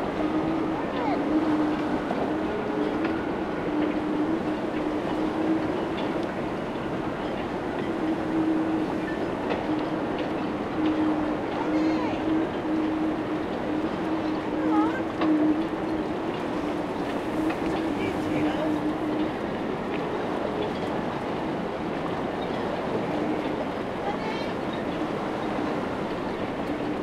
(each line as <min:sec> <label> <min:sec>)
0:00.0 wind whistling in the masts of sailing boats 0:27.0